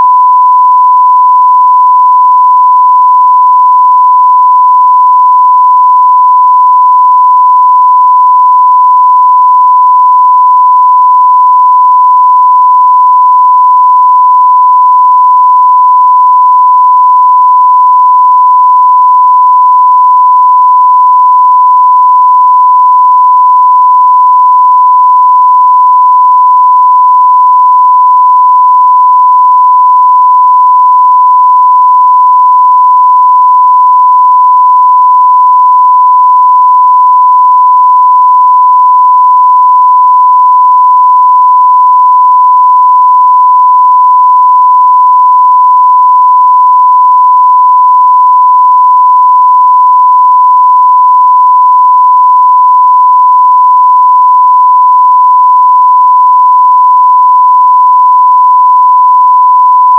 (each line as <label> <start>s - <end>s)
beep 0.0s - 59.9s